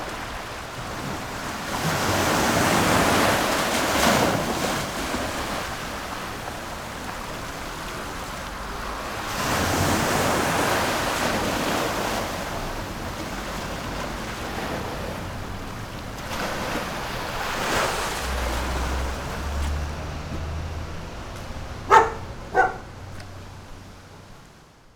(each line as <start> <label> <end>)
0.0 Tide 24.9